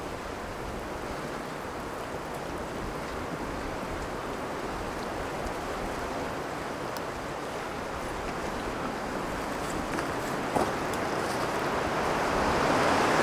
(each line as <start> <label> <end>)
0.0 Sea 13.2
0.0 Soft rain falling on soft dirt 13.2
0.0 Wind 13.2